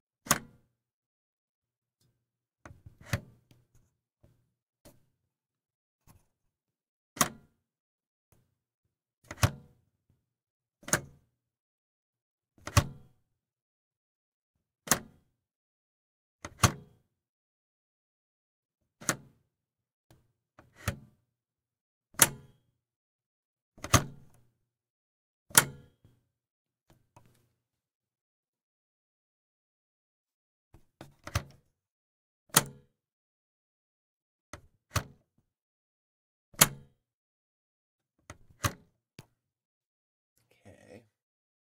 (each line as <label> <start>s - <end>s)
reel to reel tape machine tape speed switch button thuds and clicks 0.3s - 0.6s
reel to reel tape machine tape speed switch button thuds and clicks 7.2s - 7.5s
reel to reel tape machine tape speed switch button thuds and clicks 9.3s - 9.7s
reel to reel tape machine tape speed switch button thuds and clicks 12.6s - 13.0s
reel to reel tape machine tape speed switch button thuds and clicks 36.6s - 36.9s
reel to reel tape machine tape speed switch button thuds and clicks 38.5s - 38.8s